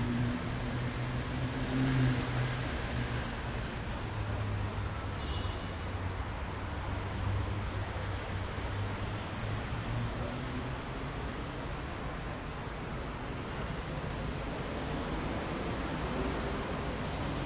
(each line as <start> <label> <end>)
0.0 traffic 17.4